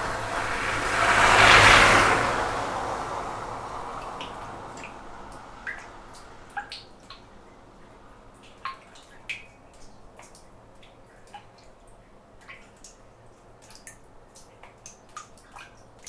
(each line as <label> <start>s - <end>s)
occasional passing car 0.0s - 8.3s
Distant highway hum 0.0s - 16.0s
Water dripping inside manhole 0.0s - 16.0s